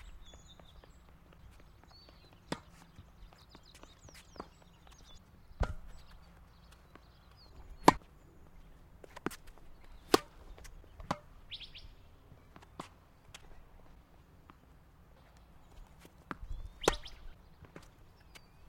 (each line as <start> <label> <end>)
0.0 birds 18.6